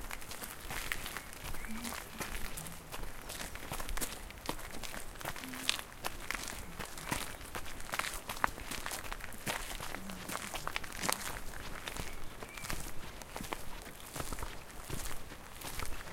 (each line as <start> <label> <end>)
0.0 footsteps 16.1
0.0 wind 16.1
0.6 birds 15.2